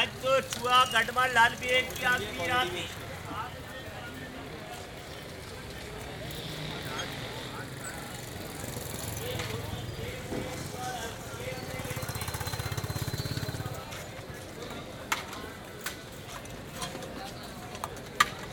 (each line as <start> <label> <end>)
0.0 market seller with a small portable PA system 18.5